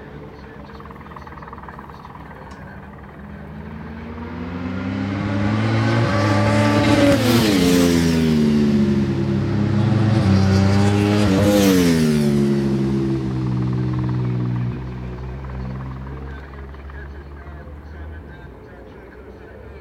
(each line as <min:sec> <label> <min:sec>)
0:00.0 Superbikes 0:19.8